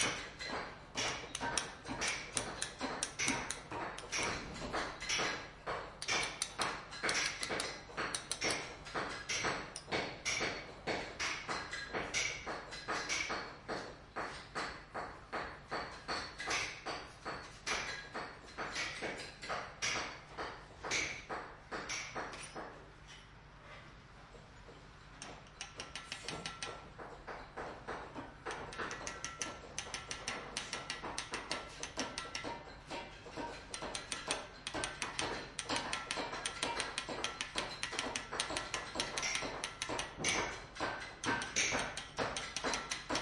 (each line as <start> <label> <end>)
25.2 carving 26.8
28.5 carving 43.2